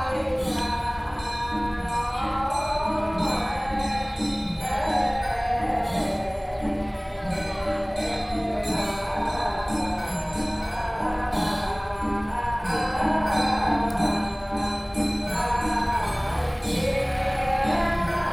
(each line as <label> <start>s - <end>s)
Temple chanting voices 0.0s - 18.3s
Traffic Sound 15.4s - 18.3s